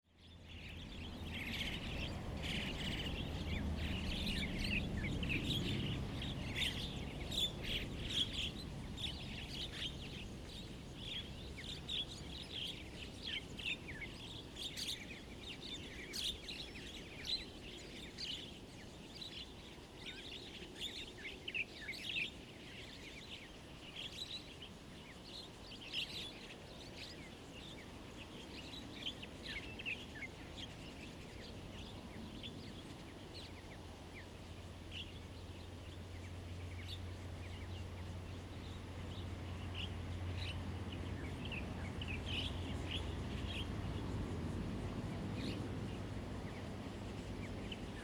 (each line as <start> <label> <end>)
0.1 Birdsong 48.0
0.7 Traffic Sound 12.4
34.7 Traffic Sound 48.0